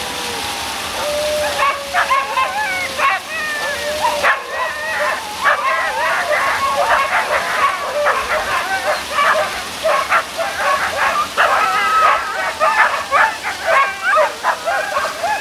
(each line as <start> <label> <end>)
0.0 small river 15.4
1.4 Sled dogs ready to go 15.4